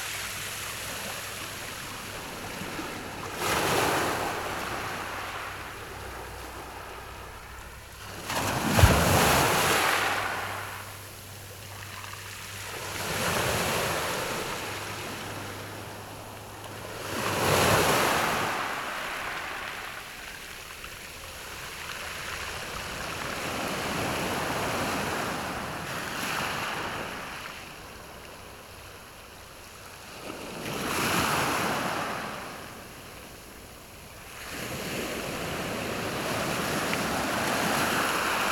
waves 0:00.0 - 0:38.5

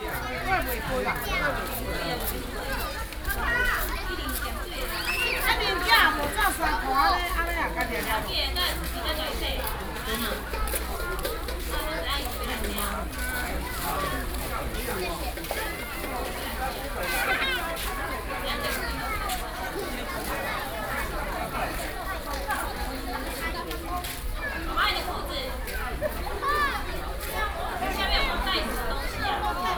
Children play in the water 0:00.0 - 0:29.7

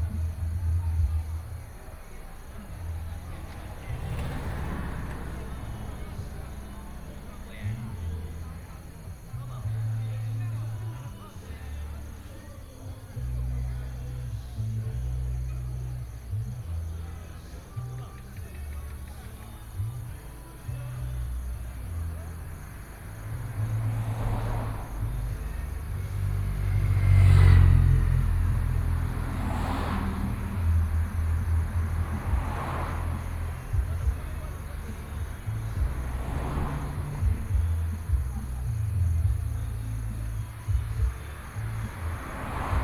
Traffic Sound 0:00.0 - 0:42.8

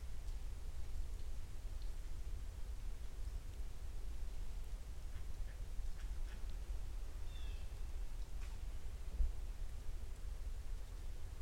Walking around the woods 0:03.4 - 0:11.4

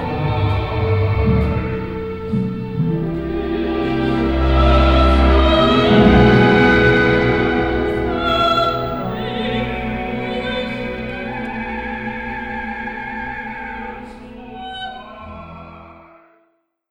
orchestra 0:00.0 - 0:16.2
sounds of the audience 0:04.2 - 0:15.6
voice 0:08.2 - 0:15.9

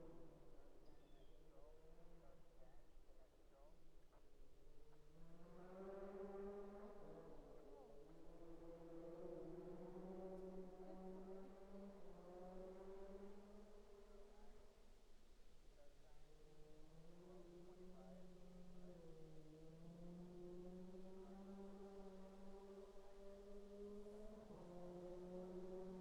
rally cars passing our marshal location 0:16.8 - 0:26.0

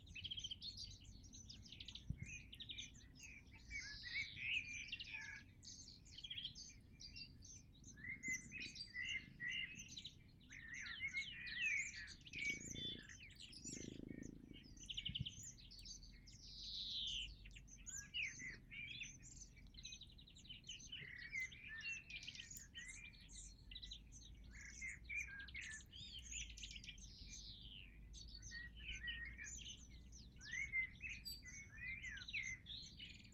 bird singing 0:00.0 - 0:33.3
far away rattle of a motorcycle 0:12.4 - 0:15.4

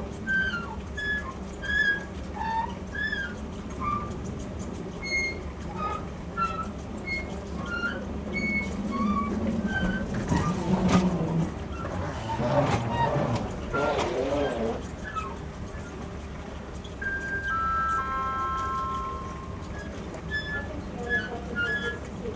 Tuneful escalator squeak 0:00.0 - 0:22.3

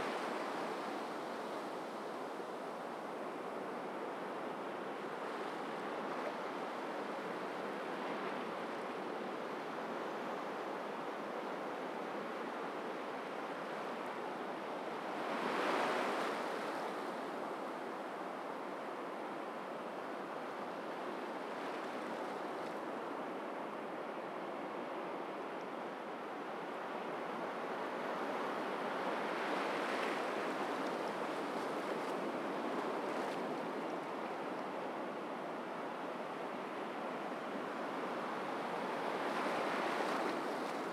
sea waves 0:26.2 - 0:40.9

